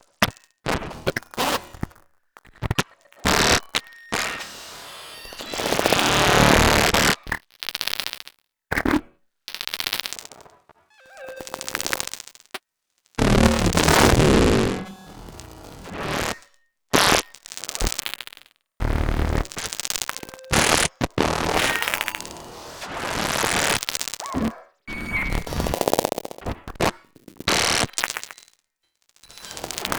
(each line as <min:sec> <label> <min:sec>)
0:11.0 spectral synthesis 0:12.2
0:13.2 spectral synthesis 0:16.4